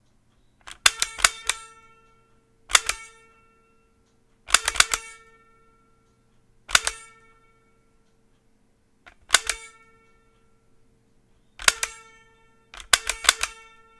2.7s NES light zapper's trigger 3.3s
6.7s NES light zapper's trigger 7.3s
9.1s NES light zapper's trigger 9.9s
11.6s NES light zapper's trigger 12.2s
12.8s NES light zapper's trigger 13.7s

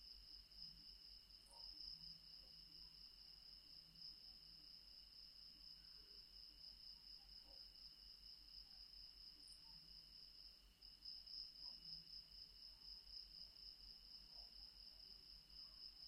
0.0s Insects 16.0s

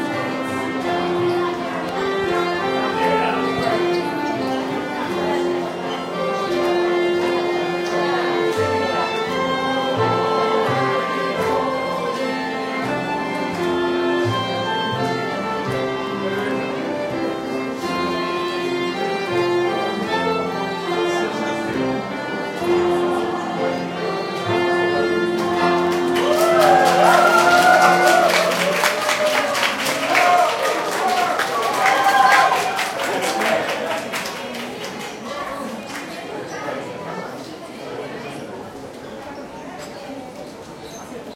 0.0s orchestra 34.8s
0.0s people 41.3s
25.9s vigorously applauding 36.1s

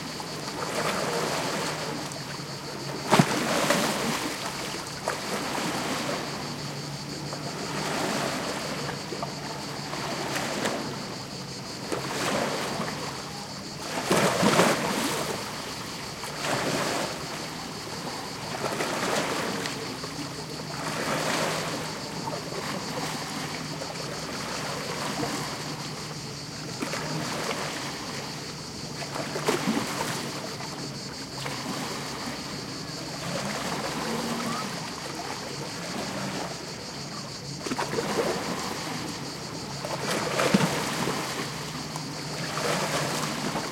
0.0s crickets 43.7s
0.0s passing boat 43.7s
0.0s waves lapping onto the rocky shore 43.7s

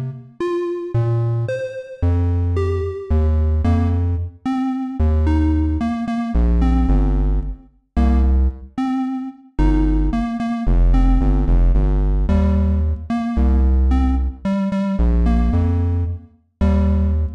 0.0s 8 bit music loop 17.3s

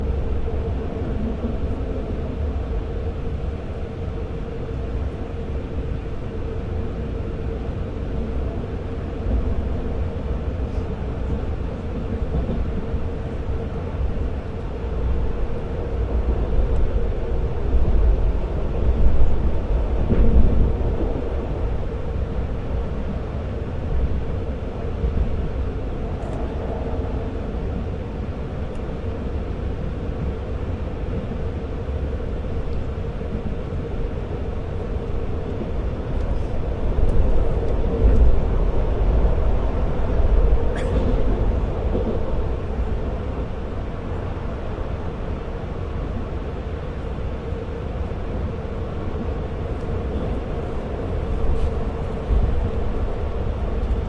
0.0s train travelling 54.0s

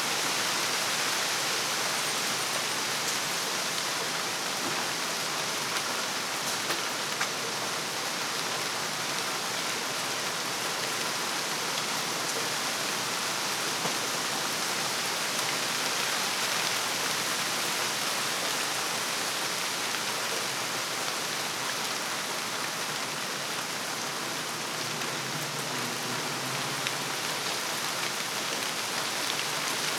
0.0s rain hitting the leaves of the tall trees 29.9s

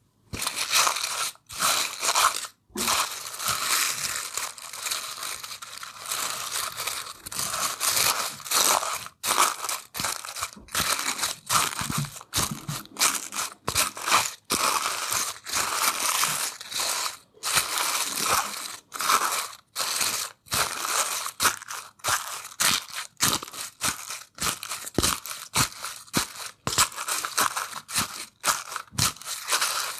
22.5s Crunchy or Crushed Leaves 29.9s

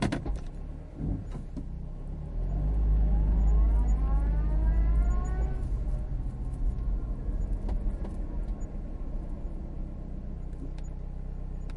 0.0s car reverse 11.7s

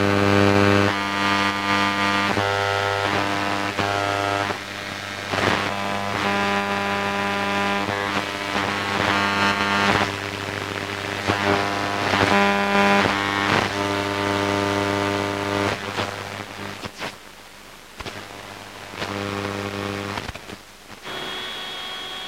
2.8s radio noise 22.2s

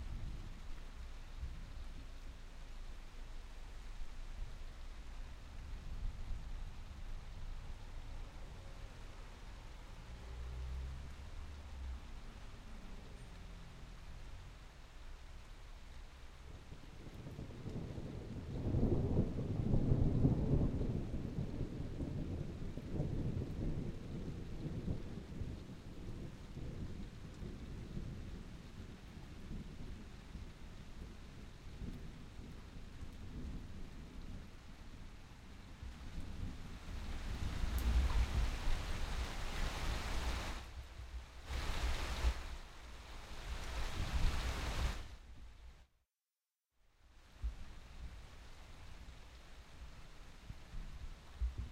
0.0s rain 46.0s
17.1s thunder 28.9s
46.8s rain 51.7s

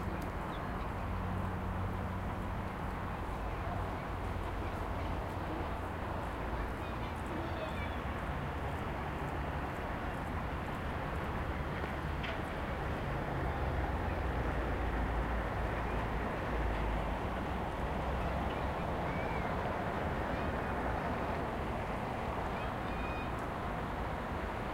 0.0s cars 24.7s
22.5s swans 23.4s

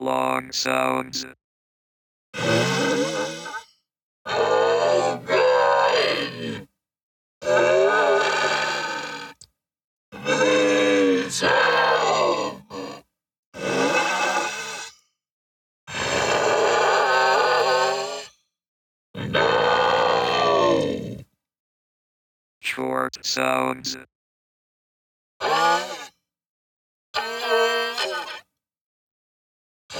0.0s text-to-speech 1.4s
2.4s screaming 3.6s
4.3s screaming 6.7s
7.4s screaming 9.4s
10.2s screaming 13.0s
10.2s LONG growls 13.0s
13.6s screaming 14.9s
15.9s screaming 18.3s
19.2s screaming 21.2s
19.2s LONG growls 21.2s
22.6s text-to-speech 24.1s
25.4s screaming 26.1s
27.2s screaming 28.4s

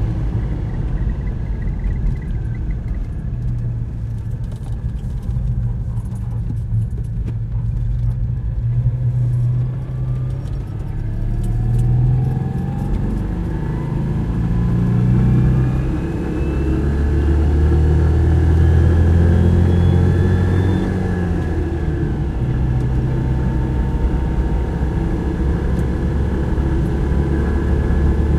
0.0s A car, start, driving on asphalt 28.3s

